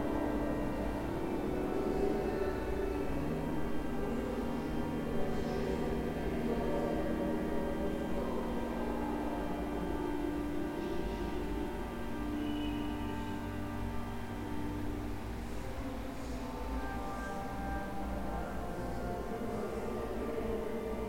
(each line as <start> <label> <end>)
0.0 voices moving in this vast, reverberant space 21.0